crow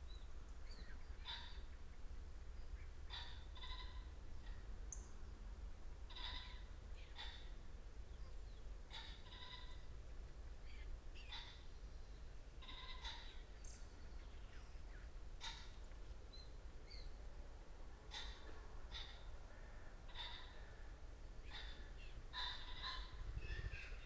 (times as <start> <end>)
12.6 13.4, 18.1 20.9, 21.5 23.2